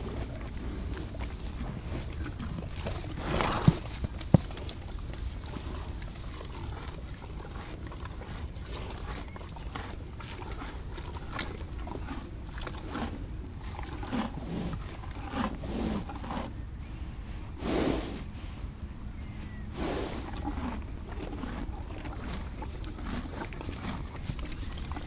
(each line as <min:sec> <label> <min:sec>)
0:00.0 Horses eating 0:25.0
0:14.2 studhorse sniffs me 0:25.0